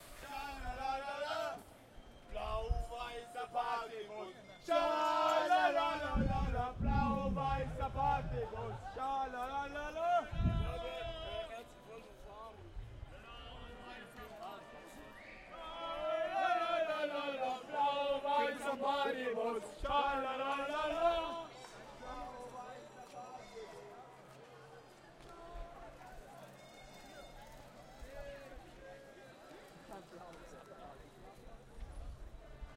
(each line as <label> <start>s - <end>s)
soccer fans 0.0s - 23.2s